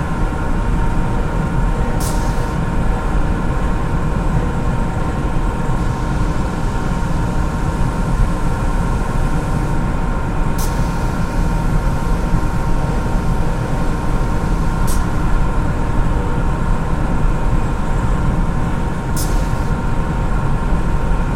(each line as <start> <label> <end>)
0.0 machinery 21.3
0.0 trucks 21.3